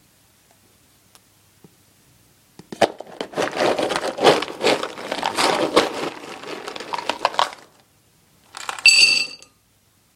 dog food from a box full of the stuff 0:02.8 - 0:09.3
pouring it into a ceramic dish 0:03.3 - 0:07.8

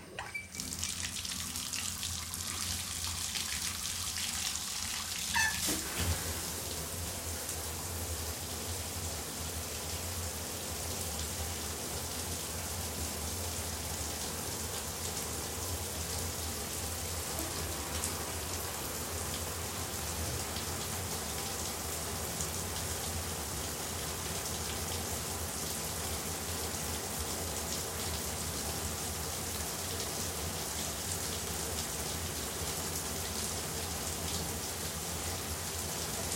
drain noise 0:00.1 - 0:08.1
Shower turning on and off 0:00.1 - 0:36.3

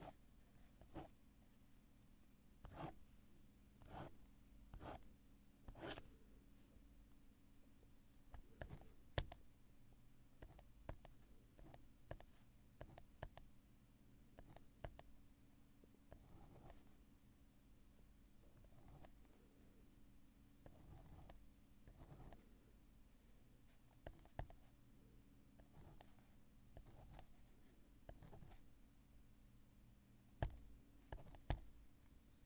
Writing and scratching around with a pen on a refill pad 0:00.0 - 0:01.2
Writing and scratching around with a pen on a refill pad 0:02.6 - 0:03.0
Writing and scratching around with a pen on a refill pad 0:03.8 - 0:06.1
Writing and scratching around with a pen on a refill pad 0:08.3 - 0:09.4
Writing and scratching around with a pen on a refill pad 0:10.4 - 0:13.5
Writing and scratching around with a pen on a refill pad 0:14.3 - 0:15.1
Writing and scratching around with a pen on a refill pad 0:16.1 - 0:17.0
Writing and scratching around with a pen on a refill pad 0:18.4 - 0:19.3
Writing and scratching around with a pen on a refill pad 0:20.6 - 0:22.6
Writing and scratching around with a pen on a refill pad 0:23.6 - 0:24.8
Writing and scratching around with a pen on a refill pad 0:25.6 - 0:28.7
Writing and scratching around with a pen on a refill pad 0:30.4 - 0:31.8

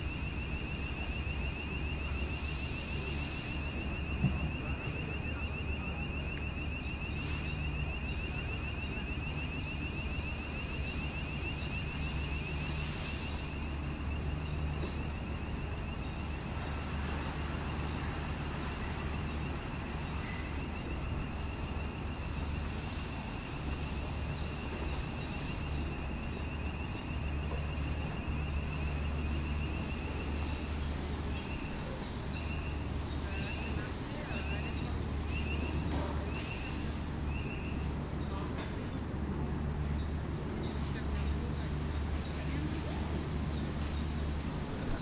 People/Tourist walking 0:00.4 - 0:45.0

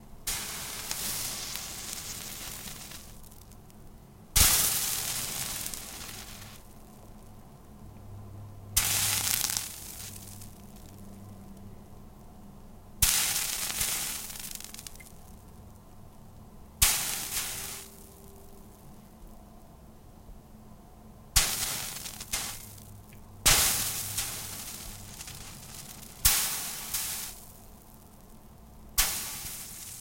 background noise 0:00.0 - 0:30.0

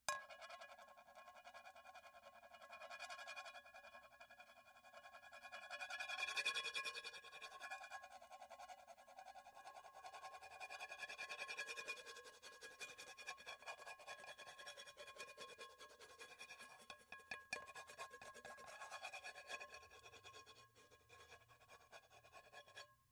Knife 0:13.5 - 0:22.9

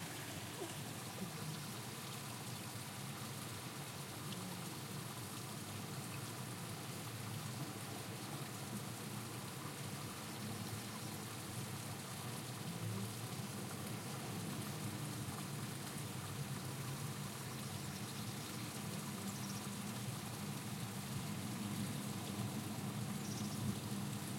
little string of water 0:00.0 - 0:24.3

